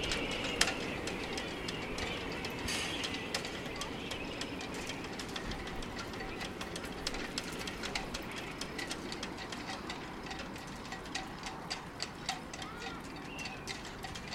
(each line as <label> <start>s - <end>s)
children play 12.5s - 13.5s